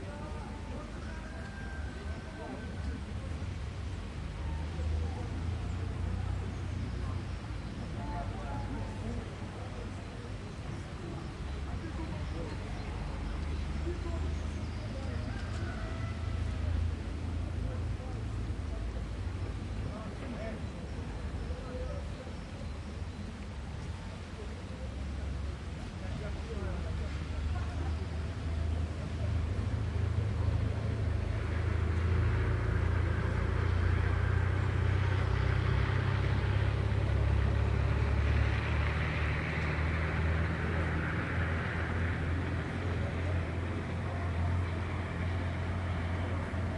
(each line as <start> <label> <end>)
0.0 heavy traffic 46.7
0.0 peoples background 46.7
0.0 birds 30.8